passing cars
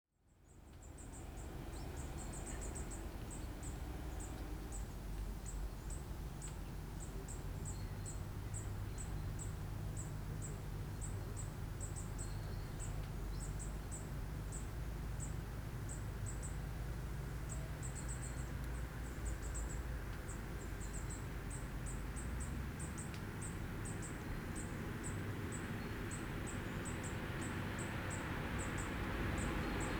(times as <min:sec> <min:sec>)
0:23.6 0:29.9